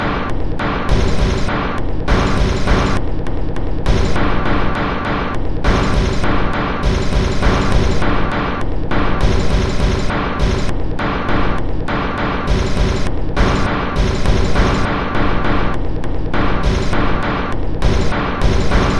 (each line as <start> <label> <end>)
0.9 Drum Loop 3.1
3.9 Drum Loop 4.8
5.6 Drum Loop 11.5
12.4 Drum Loop 15.7
16.5 Drum Loop 18.9